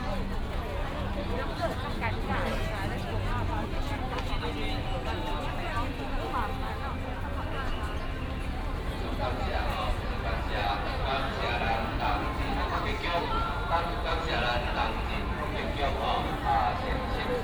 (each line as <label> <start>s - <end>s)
A lot of people 0.0s - 17.4s
Traffic sound 8.1s - 17.4s